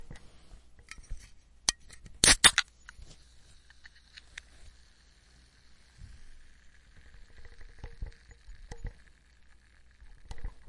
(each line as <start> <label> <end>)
2.2 can 2.7